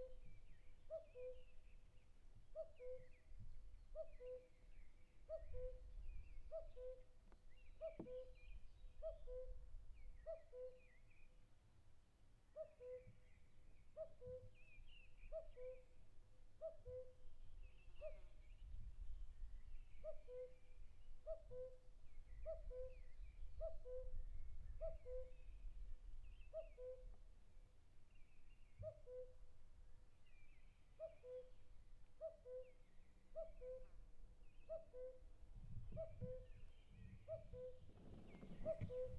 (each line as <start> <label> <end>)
37.2 cuckoo bird cuckooing 39.1